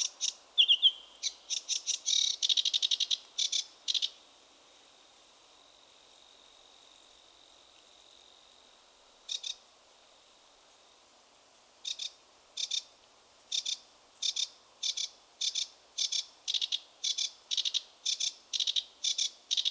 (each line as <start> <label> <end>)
0.0 sedge warbler song 4.2